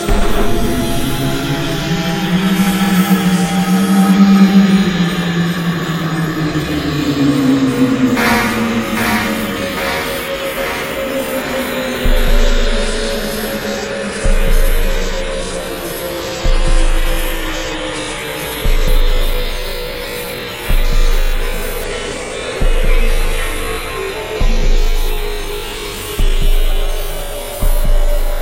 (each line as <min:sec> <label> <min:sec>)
0:00.0 Synth 0:17.3